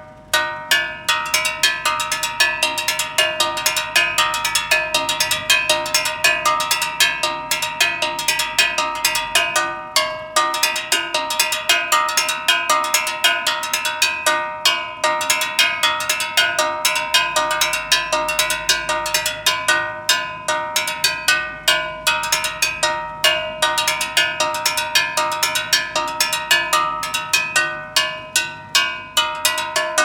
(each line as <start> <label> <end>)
0.0 Gas Seller Percussion 30.0